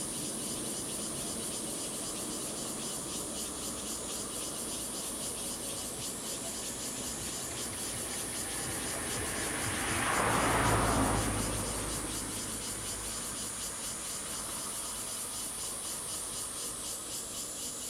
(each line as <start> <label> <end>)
0.0 Cicadas 17.8
5.3 Traffic Sound 15.6